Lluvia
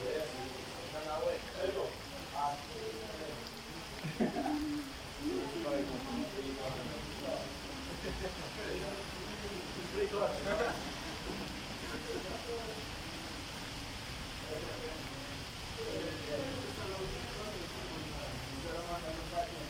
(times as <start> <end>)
3.4 6.4